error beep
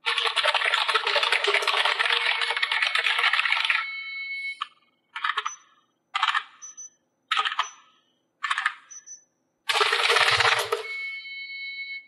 0:10.7 0:12.0

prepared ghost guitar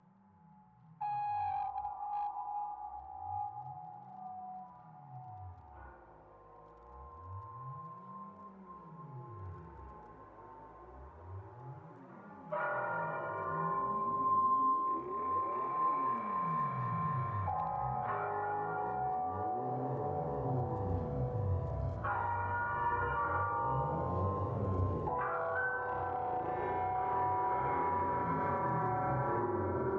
0:12.4 0:29.9

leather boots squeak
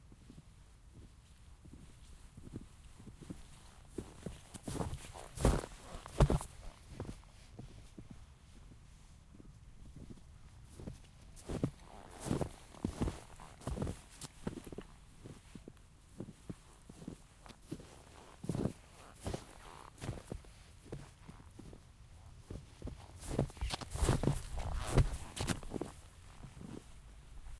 0:23.3 0:25.9

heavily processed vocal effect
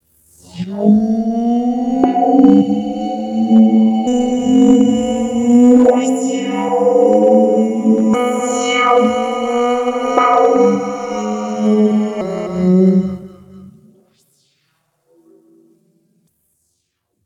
0:00.5 0:13.8

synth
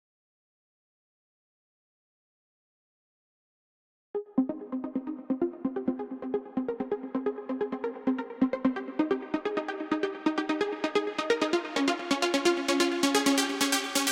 0:04.2 0:14.1

